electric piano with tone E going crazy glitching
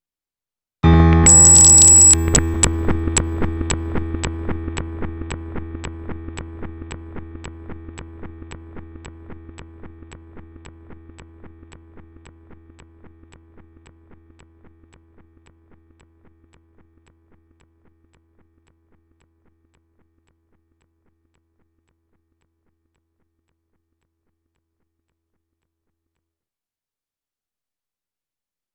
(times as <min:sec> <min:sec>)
0:01.2 0:03.0